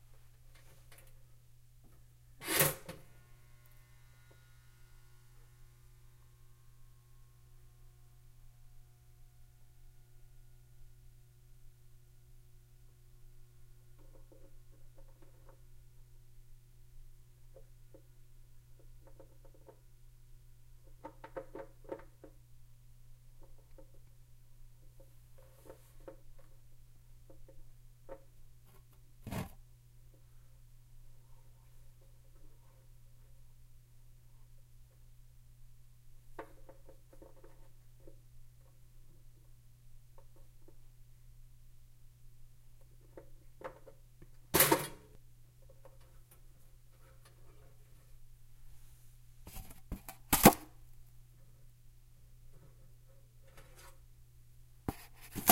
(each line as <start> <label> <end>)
49.5 opening the box 50.7
54.9 opening the box 55.5